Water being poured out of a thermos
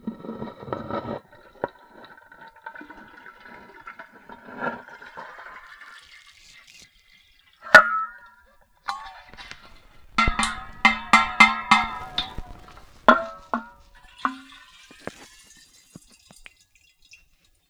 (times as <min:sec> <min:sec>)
0:08.9 0:17.5